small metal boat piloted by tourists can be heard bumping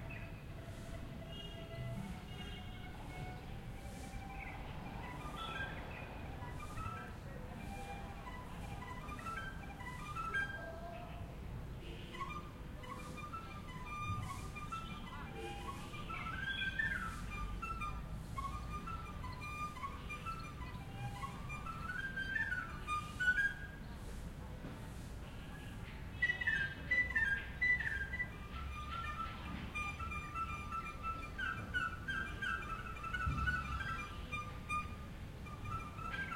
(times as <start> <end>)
28.7 36.3